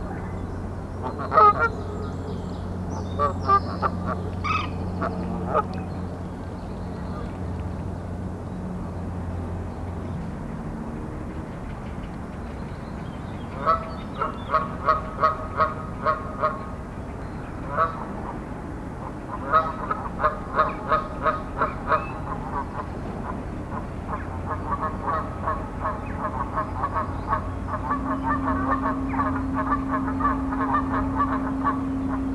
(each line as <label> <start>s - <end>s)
Canadian geese are talking 1.0s - 2.0s
Canadian geese are talking 3.2s - 5.8s
Canadian geese are talking 17.6s - 18.4s
Canadian geese are talking 19.0s - 32.3s